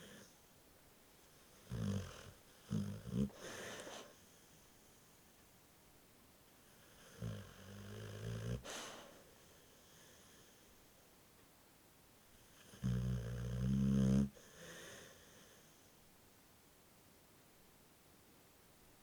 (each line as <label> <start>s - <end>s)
Bull mastiff asleep and snoring 1.4s - 4.6s
Bull mastiff asleep and snoring 6.6s - 10.6s
Bull mastiff asleep and snoring 12.4s - 15.8s